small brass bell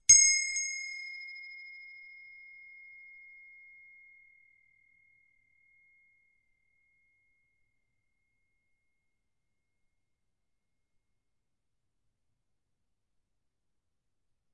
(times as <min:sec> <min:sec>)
0:00.0 0:09.7